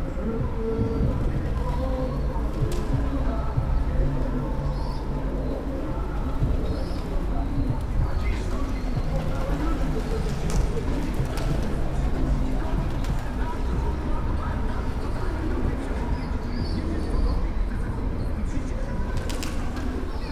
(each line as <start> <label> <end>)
0.0 teenagers walking on the bridge 20.3
0.2 chirps and wing flaps bouncing of the sides of the pillars 20.3